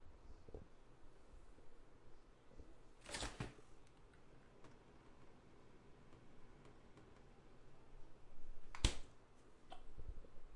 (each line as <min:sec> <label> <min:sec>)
0:03.0 fridge door opening and closing 0:03.7